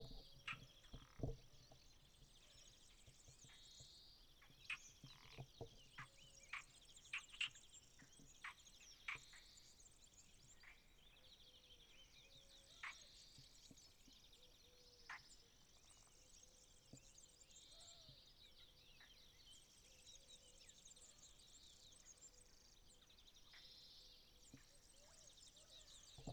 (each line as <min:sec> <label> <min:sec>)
0:00.0 BIRDSONG 0:26.3
0:00.0 Frogs 0:01.5
0:12.6 Frogs 0:13.2
0:14.7 Frogs 0:16.1